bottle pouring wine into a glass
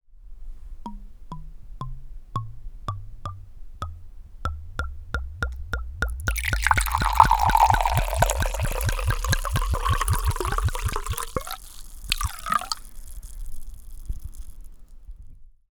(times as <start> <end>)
6.1 14.3